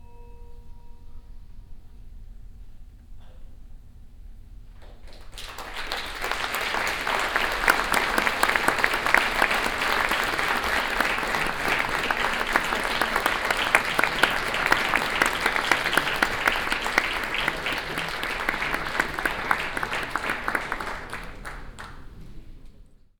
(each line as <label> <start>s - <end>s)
applaus after a performance 5.1s - 22.4s